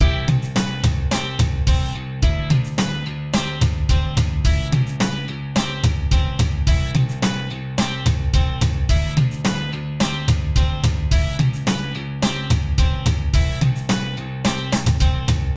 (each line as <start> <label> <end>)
0.0 drums 15.5
0.0 guitar 15.5